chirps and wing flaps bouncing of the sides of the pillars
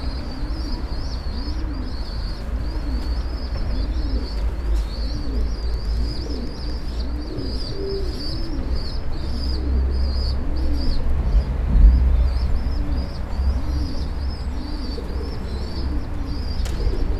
0:16.4 0:17.1

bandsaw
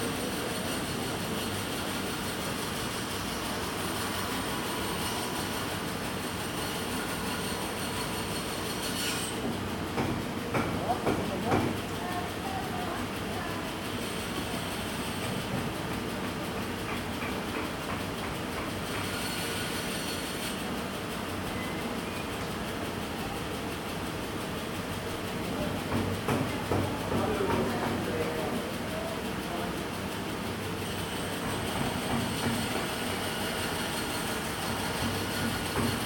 0:02.6 0:09.5, 0:18.8 0:20.6, 0:30.8 0:36.0

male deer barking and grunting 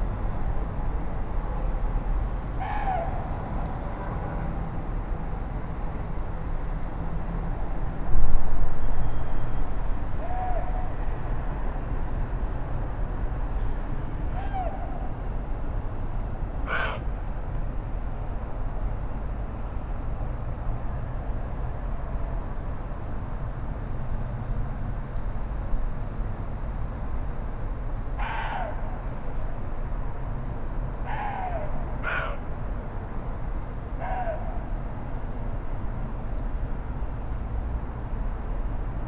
0:14.3 0:15.2, 0:16.6 0:17.1, 0:31.1 0:32.5, 0:34.0 0:34.8

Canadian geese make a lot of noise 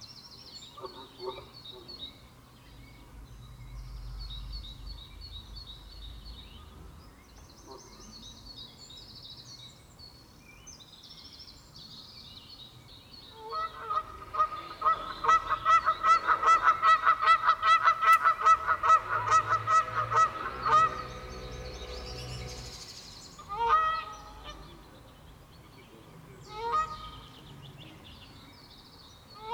0:00.7 0:02.1, 0:13.3 0:22.1, 0:23.4 0:25.0, 0:25.9 0:27.4

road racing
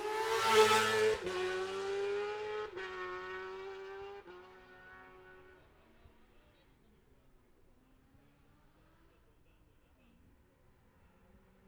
0:00.0 0:05.8

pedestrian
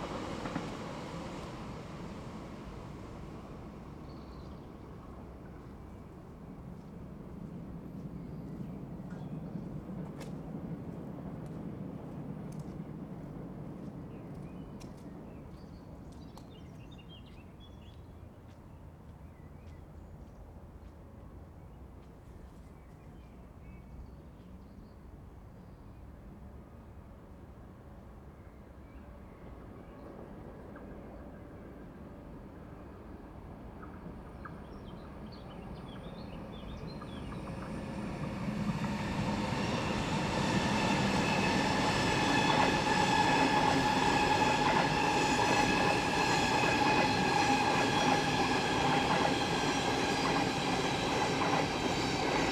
0:33.8 0:52.5

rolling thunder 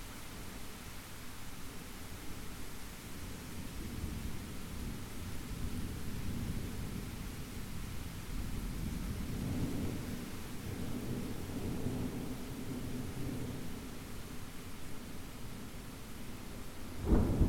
0:17.0 0:17.4

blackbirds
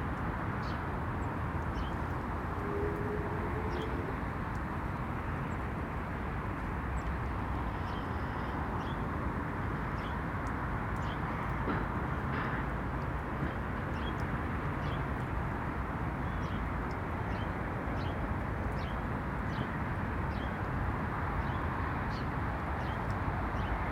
0:01.7 0:04.3

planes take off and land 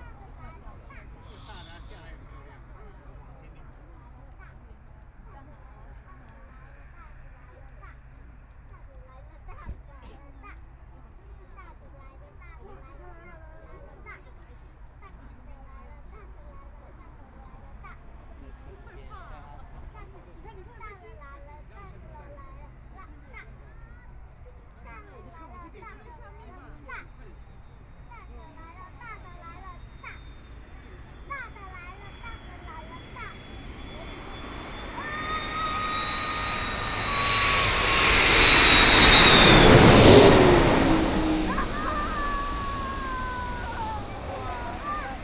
0:27.0 0:45.2

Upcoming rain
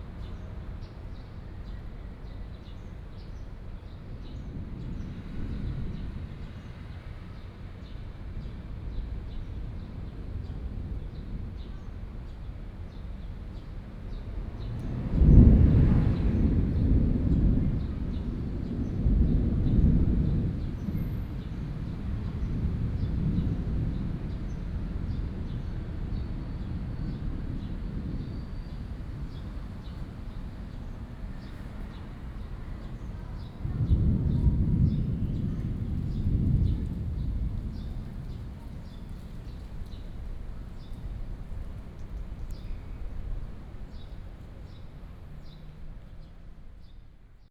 0:14.4 0:45.3

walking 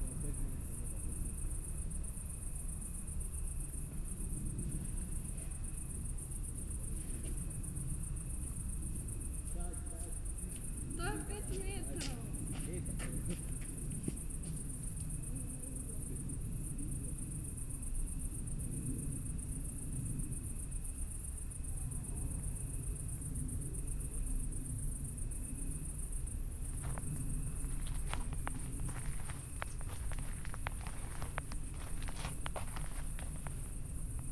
0:26.7 0:34.3

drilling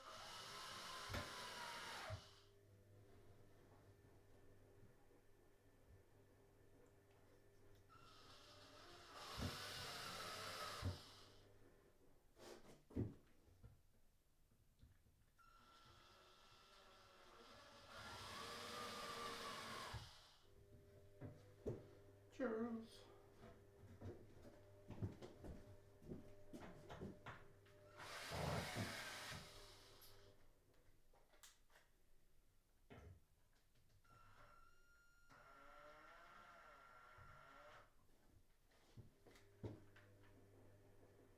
0:00.0 0:02.4, 0:07.9 0:11.2, 0:15.4 0:20.4, 0:27.9 0:30.3, 0:35.3 0:37.9

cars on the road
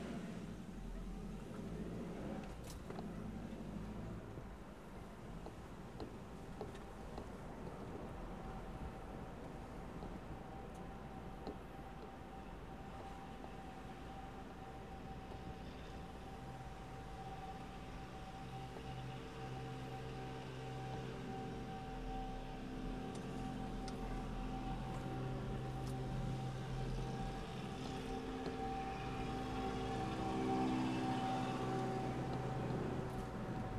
0:00.0 0:13.4, 0:20.5 0:33.7

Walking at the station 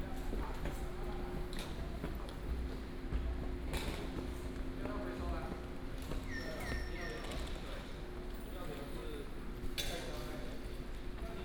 0:00.0 0:07.0

